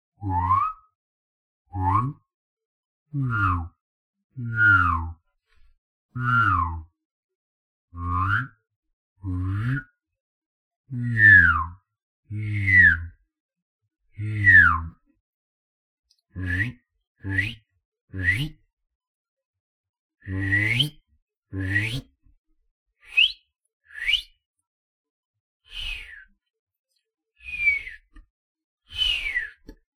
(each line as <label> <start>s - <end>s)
droning and whistling at the same time 16.5s - 18.6s
droning and whistling at the same time 20.3s - 21.0s
droning and whistling at the same time 23.1s - 24.4s
droning and whistling at the same time 27.4s - 28.1s
droning and whistling at the same time 28.9s - 29.7s